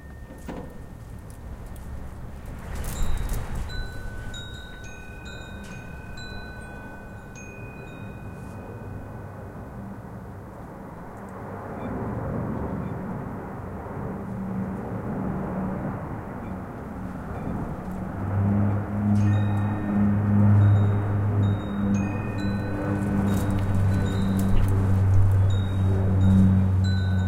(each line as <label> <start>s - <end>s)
dancing small-bells 3.0s - 9.3s
flying over plane 8.4s - 27.2s
dancing small-bells 19.2s - 27.2s